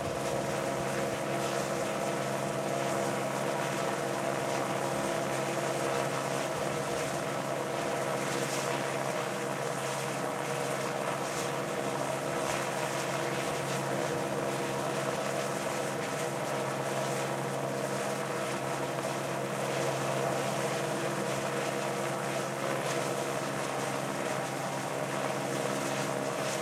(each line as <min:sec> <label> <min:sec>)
0:00.0 Helicopter Hover 0:26.6